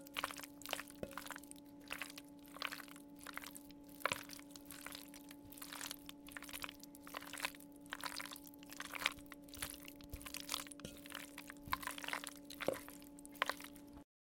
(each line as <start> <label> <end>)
0.0 Cooked rigatoni (pasta noodles) being stirred in a ceramic bowl 14.0